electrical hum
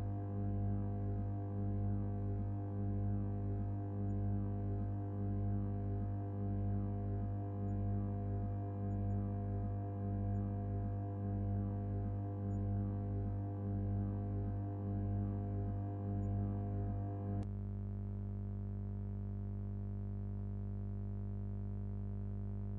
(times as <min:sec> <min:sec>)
0:00.0 0:18.0